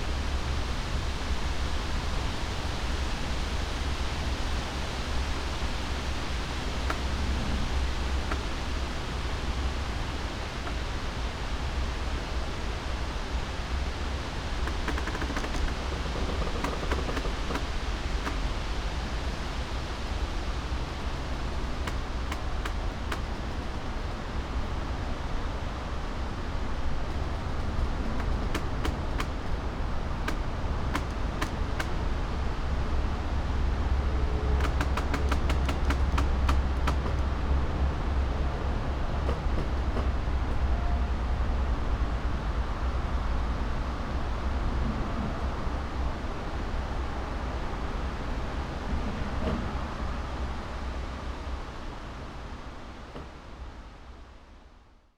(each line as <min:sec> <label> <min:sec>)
0:00.0 distant traffic hum 0:54.3
0:00.0 winds 0:55.1
0:14.1 creaks 0:19.4
0:20.6 creaks 0:25.0
0:25.7 creaks 0:32.0
0:34.0 creaks 0:37.4